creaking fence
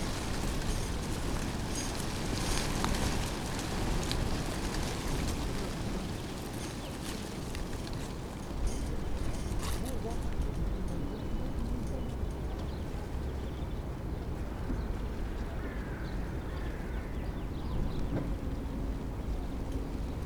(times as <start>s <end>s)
5.0s 10.6s